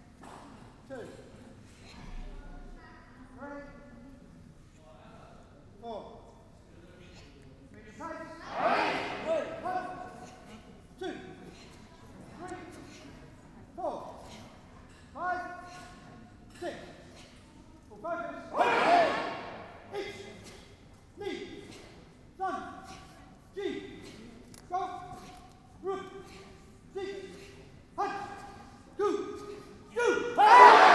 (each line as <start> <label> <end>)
8.5 Karate Grading 10.6
18.5 Karate Grading 24.2
25.0 Karate Grading 30.9